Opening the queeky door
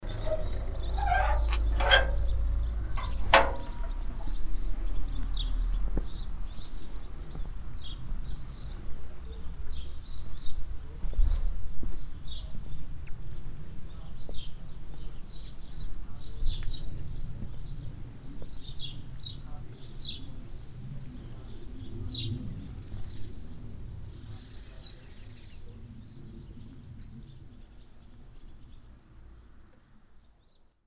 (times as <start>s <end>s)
0.0s 4.2s